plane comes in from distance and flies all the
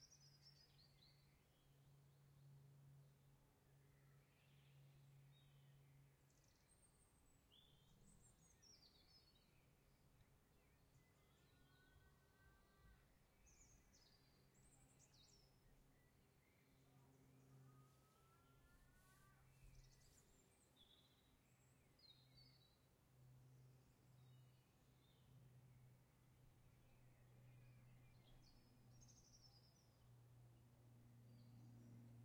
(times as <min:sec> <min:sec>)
0:16.4 0:25.8